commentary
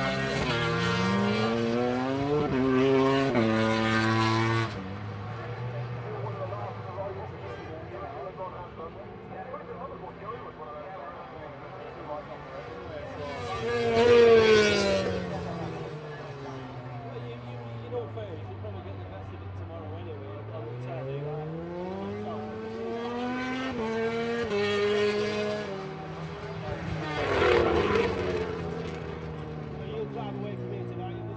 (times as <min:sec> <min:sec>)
0:05.3 0:28.6